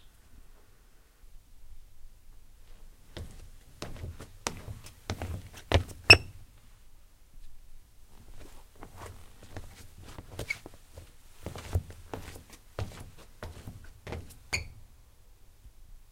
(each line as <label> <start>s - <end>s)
Squeaky trainers on a wooden floor 3.2s - 6.4s
Squeaky trainers on a wooden floor 9.0s - 14.8s